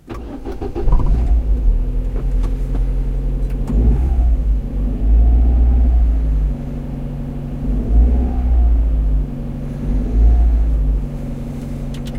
Car start 0.0 - 12.1

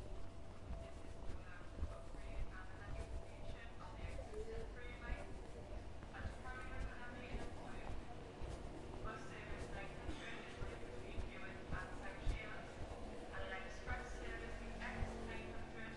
footsteps 0.0 - 15.9
train arrives at overground station 0.0 - 15.9

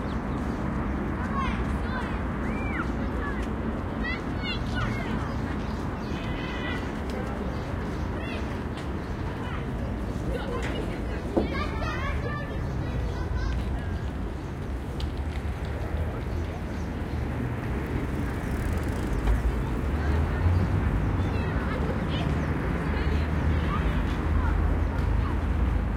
children playing 0.0 - 25.9
traffic in bg 0.0 - 25.9

